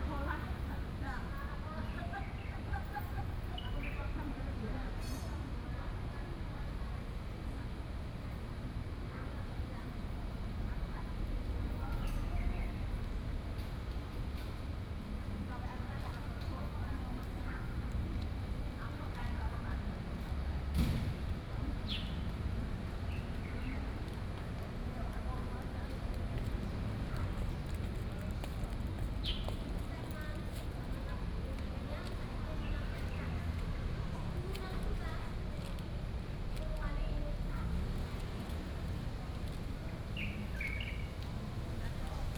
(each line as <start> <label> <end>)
40.2 Bird calls 41.2